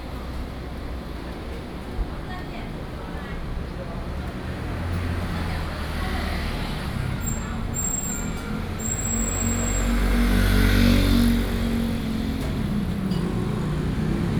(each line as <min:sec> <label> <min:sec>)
0:03.8 Traffic Sound 0:14.3